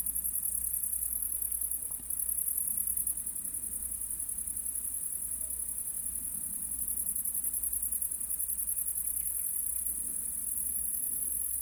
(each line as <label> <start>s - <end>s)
crickets are singing into the grass 0.0s - 11.6s